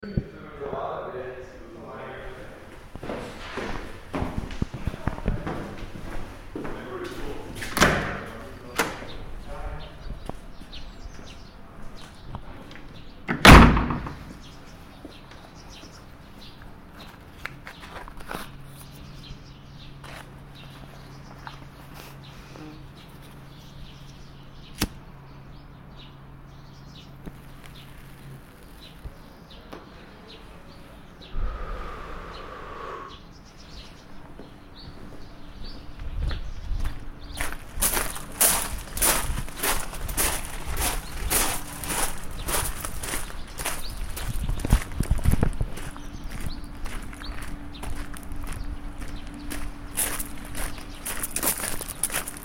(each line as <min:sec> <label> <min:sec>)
0:00.0 voice of the nature 0:03.2
0:06.6 voice of the nature 0:11.8
0:18.8 voice of the nature 0:28.0
0:28.8 voice of the nature 0:34.0